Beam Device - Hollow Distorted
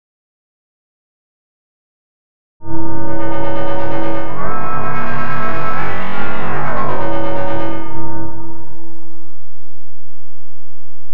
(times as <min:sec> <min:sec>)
0:02.6 0:10.8